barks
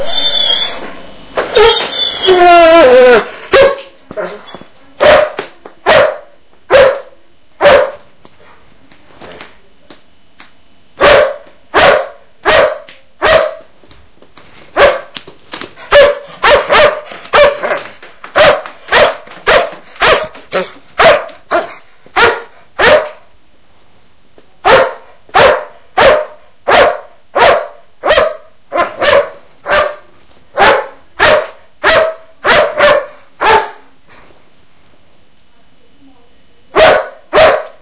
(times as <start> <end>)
3.5 8.0, 11.0 13.7, 15.9 23.2, 24.6 33.9, 36.8 37.8